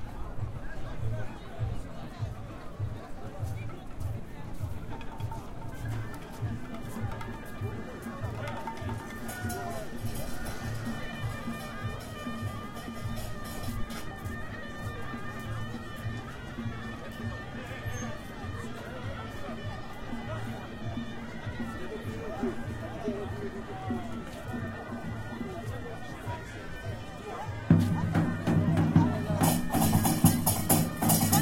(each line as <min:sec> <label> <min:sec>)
0:00.0 musicians 0:31.4
0:00.0 swarmed with people 0:31.4